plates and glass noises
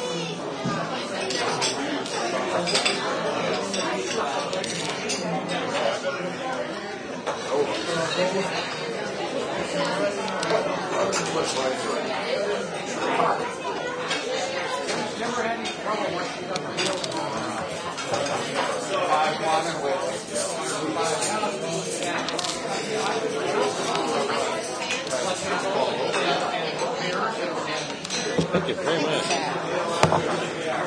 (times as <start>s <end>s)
1.2s 5.8s, 20.2s 30.8s